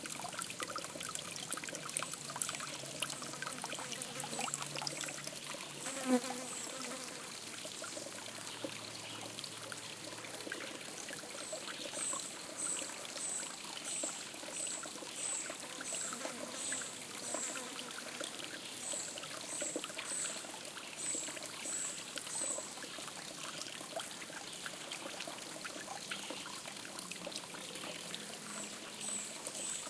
0.0s light stream 29.8s
5.8s fly 7.3s
15.2s fly 19.0s

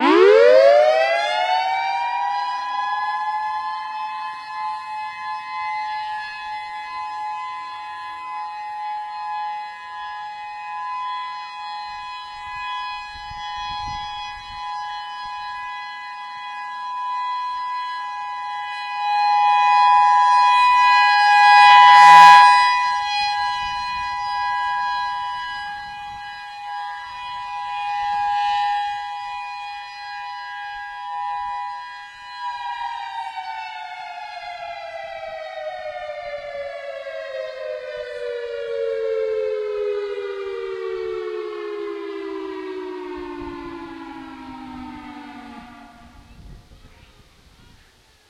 0.0s Emergency Outdoor Warning Siren 48.2s
12.4s wind noise 14.9s
22.9s wind noise 27.1s
43.1s wind noise 48.2s

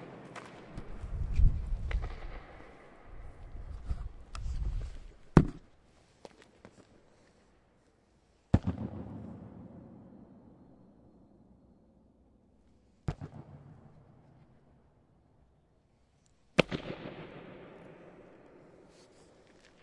0.0s echo 4.2s
8.5s echo 15.5s
16.5s echo 19.8s

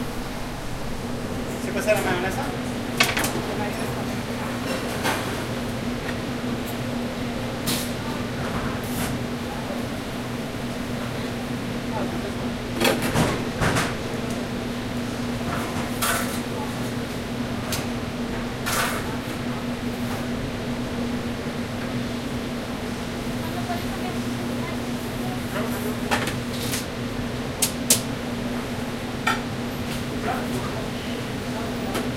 0.0s Working in the kitchen of a restaurant 32.1s

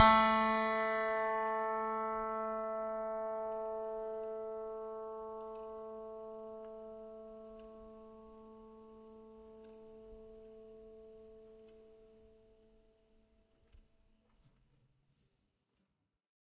0.0s piano strings played with a finger 9.5s

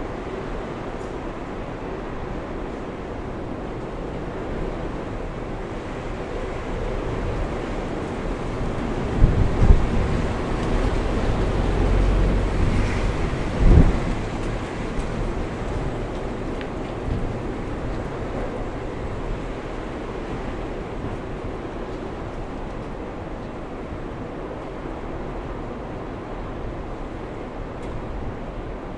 0.0s storm 28.9s
0.0s wind 28.9s

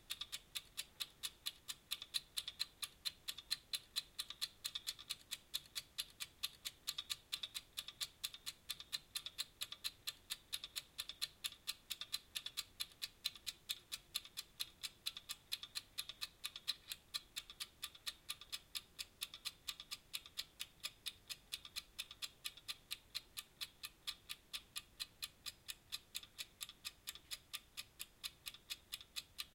0.0s egg timer 29.5s

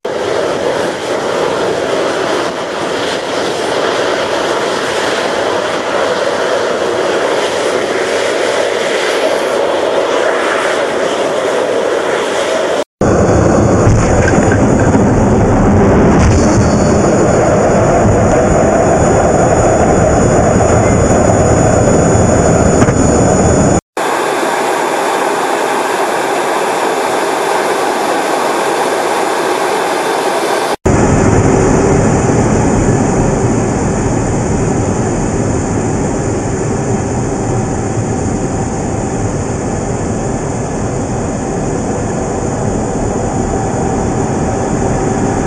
0.0s jet 45.4s

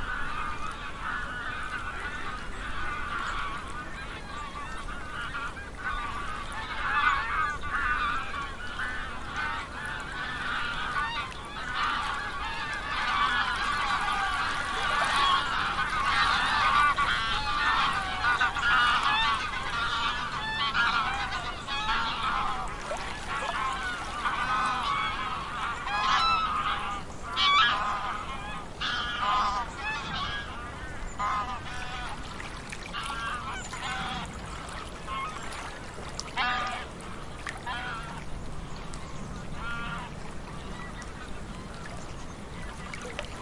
0.0s geese get fairly noisy 43.4s
0.0s water 43.4s

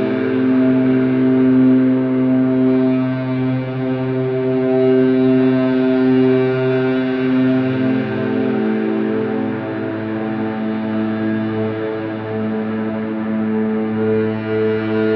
0.0s Guitar played with a violin bow 15.1s

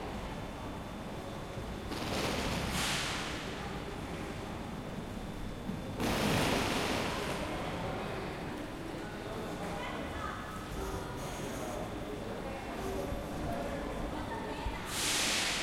0.0s Train 15.6s
6.2s crowd 15.6s

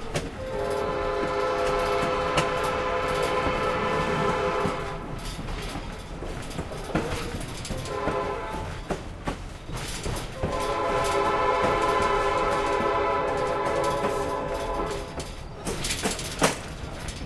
0.0s train whistle 5.3s
0.0s clickity-clackity track 17.2s
0.0s train 17.2s
0.0s train crossing 17.2s
7.7s train whistle 9.0s
10.3s train whistle 15.4s

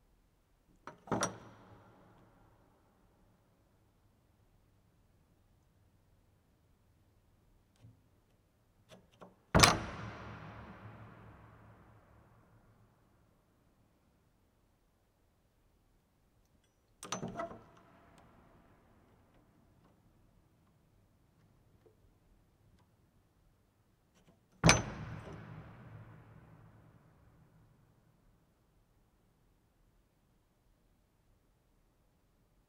0.9s Old door lock 2.3s
7.8s Old door lock 11.4s
17.0s Old door lock 18.4s
24.2s Old door lock 26.1s

